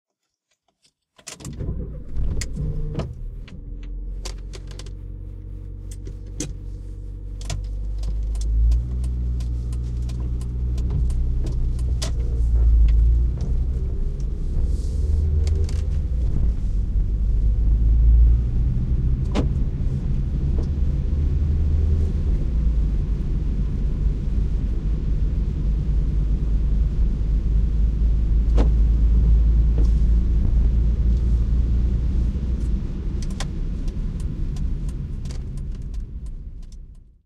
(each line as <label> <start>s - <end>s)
Start car and drive 1.2s - 23.6s
shifting gears 1.2s - 37.1s
road sounds wet 1.5s - 37.1s
Start car and drive 28.3s - 37.2s